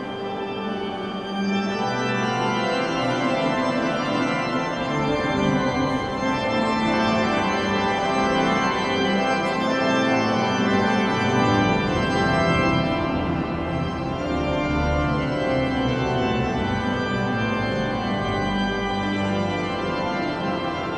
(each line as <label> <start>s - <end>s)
organ 0.0s - 20.9s
people going out of the cathedral 0.0s - 20.9s